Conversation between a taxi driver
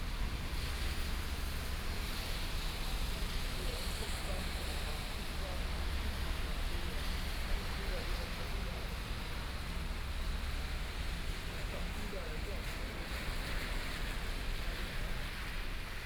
3.4 13.9

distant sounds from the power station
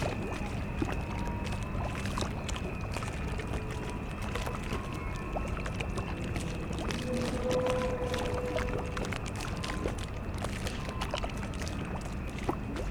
5.0 11.3

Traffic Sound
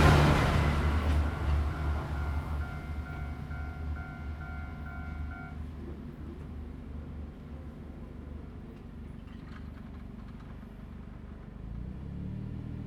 0.0 5.6

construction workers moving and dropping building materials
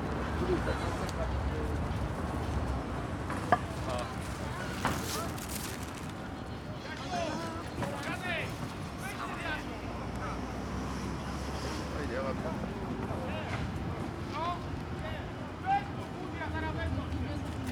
3.3 6.4

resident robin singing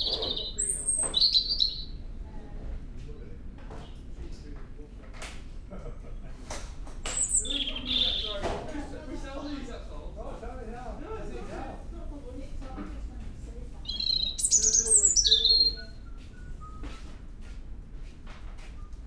0.0 2.0, 7.1 8.5, 13.8 16.8

